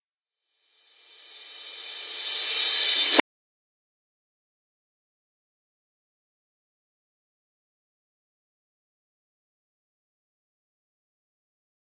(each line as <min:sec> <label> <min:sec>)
0:00.8 Reverse Cymbal 0:03.2